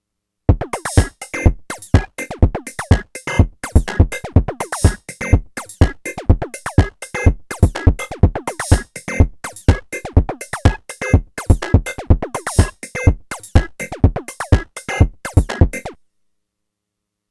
techno beat 0.5 - 16.0

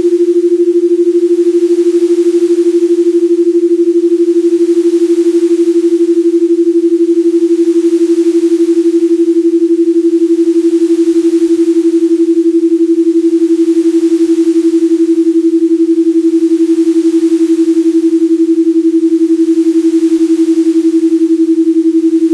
Binaural beats 0.0 - 22.3

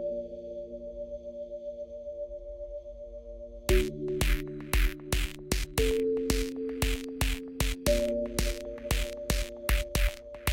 synthesizer 0.0 - 10.5

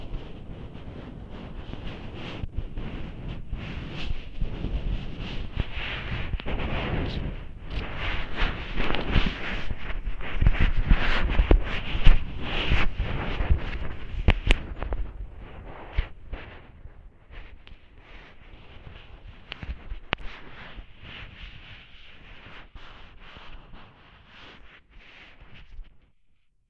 scraping a paintbrush around on the bottom of a bathtub 0.0 - 25.9

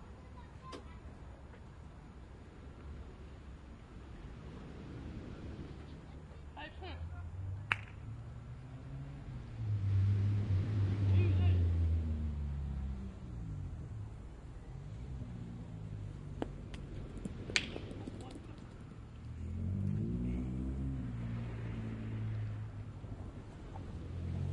cars 0.0 - 24.5
planes 0.0 - 24.5
sea 2.3 - 6.5
balls hitting each other 7.7 - 8.0
balls hitting each other 16.3 - 19.0
people 17.6 - 18.9

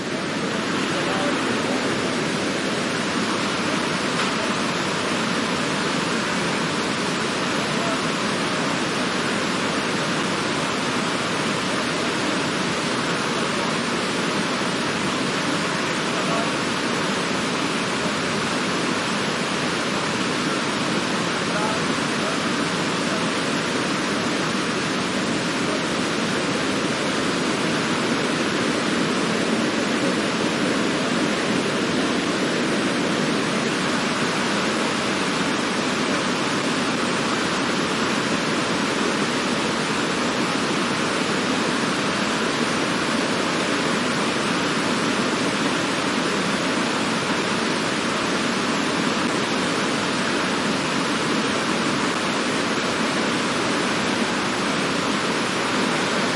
waterfall 0.0 - 56.3
talk 0.8 - 2.4
talk 16.1 - 16.6
talk 21.5 - 23.3

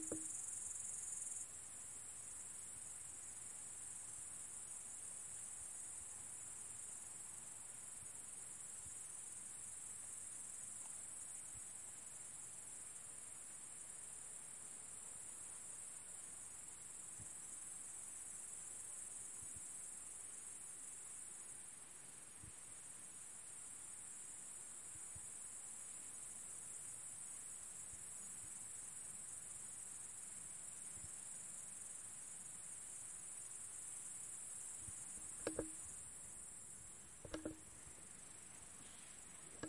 Crickets are chirping 0.0 - 39.6

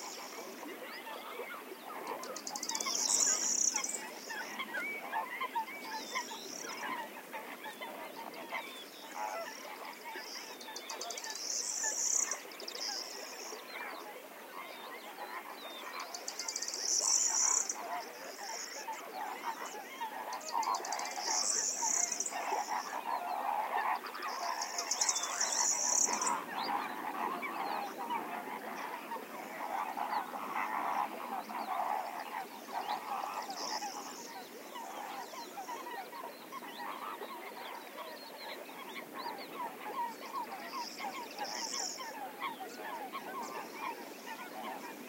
Coot 0.0 - 45.0
distant flamingos 0.0 - 45.0
Crested Lark 15.9 - 28.2

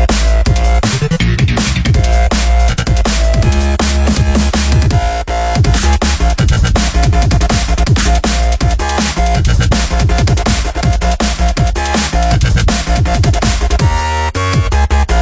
bass 0.0 - 15.2
drums 0.0 - 15.2
synths 0.0 - 15.2

